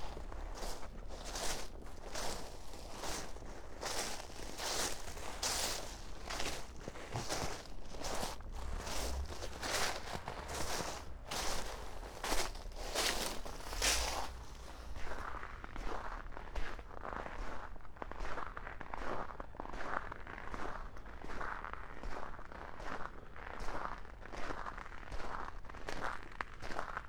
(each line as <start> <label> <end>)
0.0 walking on frozen groud 15.5